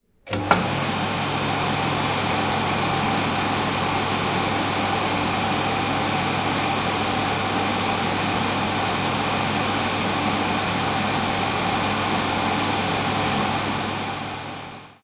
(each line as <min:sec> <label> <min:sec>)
0:00.3 hands dryer 0:15.0